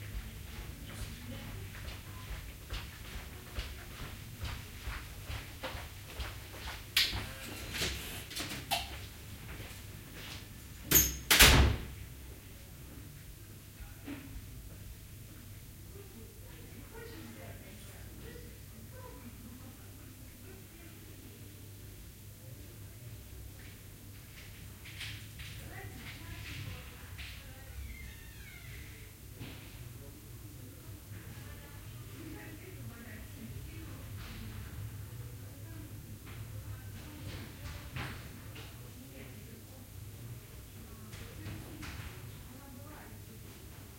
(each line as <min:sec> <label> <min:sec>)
0:00.0 footsteps 0:10.5